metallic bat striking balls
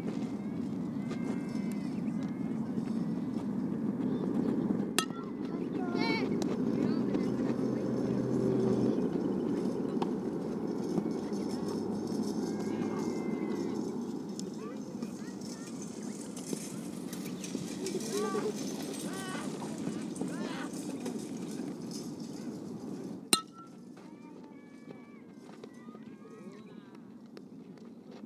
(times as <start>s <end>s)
5.0s 5.7s, 23.4s 23.9s